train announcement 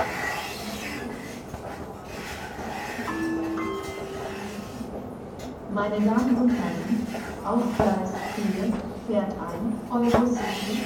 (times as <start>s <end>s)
3.1s 7.8s